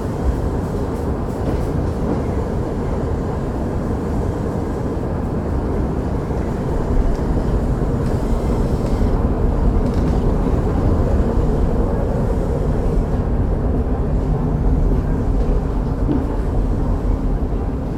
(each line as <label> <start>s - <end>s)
singing escalators 0.0s - 17.9s